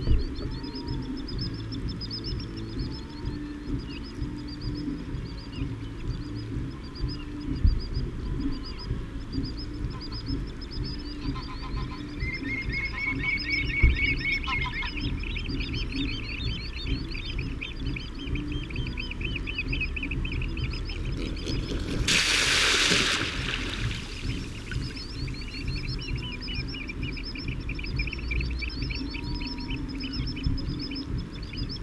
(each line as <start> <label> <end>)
0.0 common sandpiper 31.8
0.0 curlew 31.8
8.1 grey heron 31.8
23.8 tawny owl 31.8